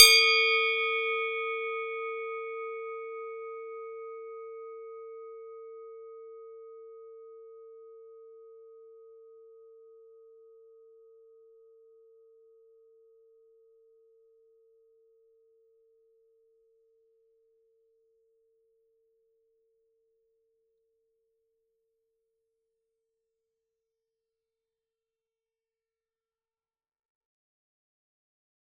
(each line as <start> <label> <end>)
0.0 Swiss cowbell 5.5